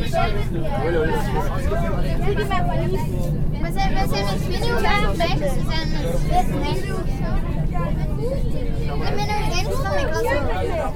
Crowded train 0.0 - 10.9

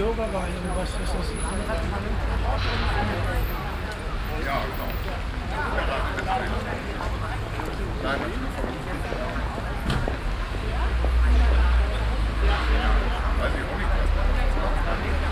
people in an open street cafe 0.0 - 15.3
traffic sound 0.0 - 15.3

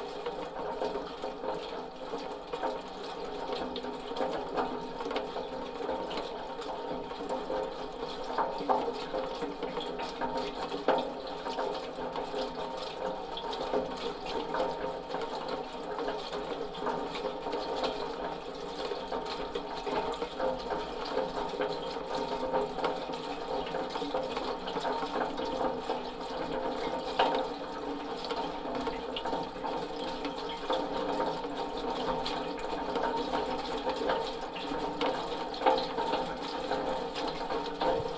gutter is making strange noises with the rain 0.0 - 38.1

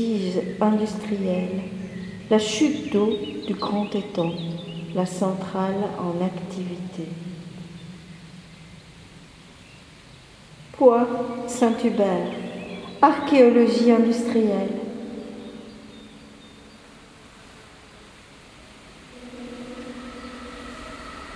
Birds 0.0 - 21.3
train passing above 18.6 - 21.3

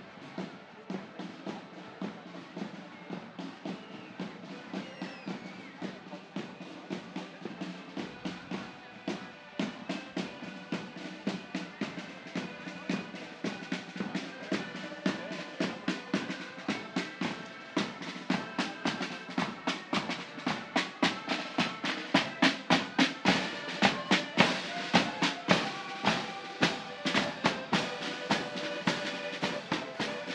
chatter 0.0 - 30.3
drums 0.0 - 30.3
flutes 0.0 - 30.3
marching 0.0 - 30.3
whistles 3.7 - 5.9
accordions 6.1 - 30.3

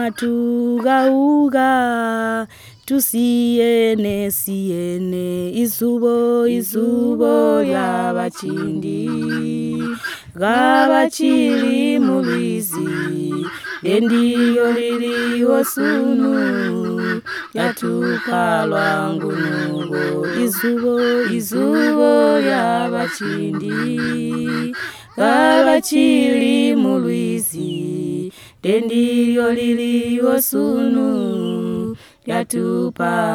singing a song together 0.0 - 33.3

